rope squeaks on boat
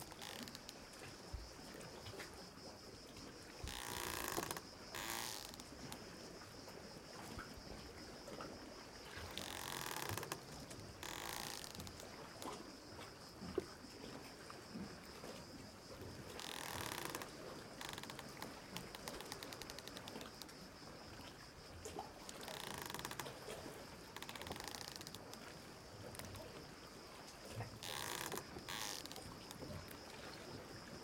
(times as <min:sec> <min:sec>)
0:00.0 0:00.8, 0:03.6 0:05.9, 0:09.3 0:12.5, 0:16.4 0:20.4, 0:22.3 0:23.4, 0:24.2 0:25.2, 0:27.8 0:30.0